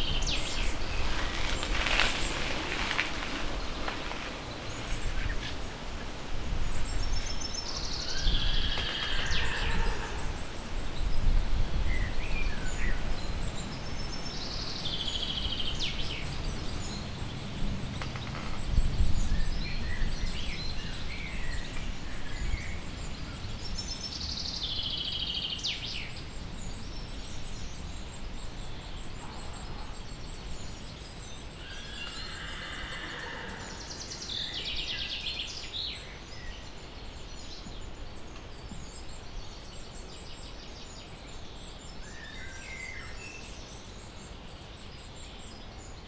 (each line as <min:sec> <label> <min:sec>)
0:00.0 crackling tree 0:06.3
0:00.0 bikers 0:07.4
0:08.7 neighing of the horses 0:10.7
0:31.7 neighing of the horses 0:34.1